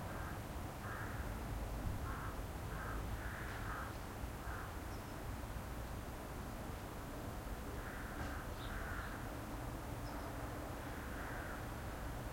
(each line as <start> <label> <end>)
0.1 crows 1.4
2.0 crows 4.8
7.8 crows 9.3
10.8 crows 11.8